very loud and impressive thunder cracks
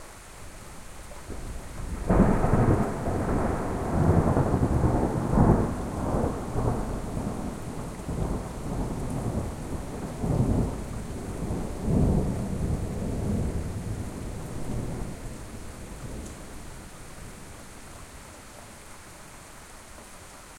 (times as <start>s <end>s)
1.4s 16.2s